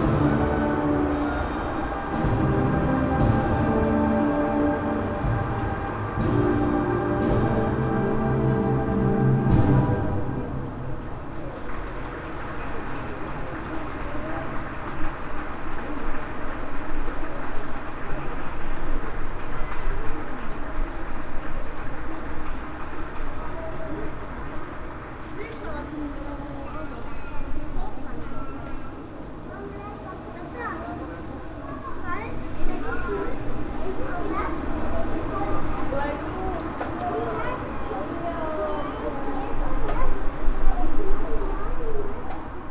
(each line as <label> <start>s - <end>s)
brass band 0.0s - 11.3s
church bells 0.0s - 11.3s
winds 0.0s - 42.7s